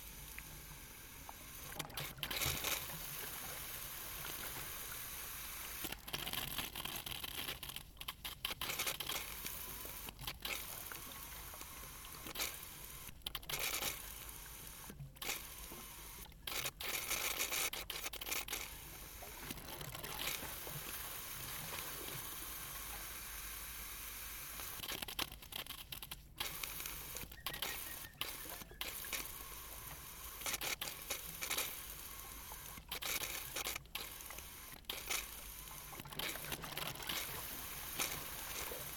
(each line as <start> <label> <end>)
26.3 Malfunctioning valve on a water pipeline 38.9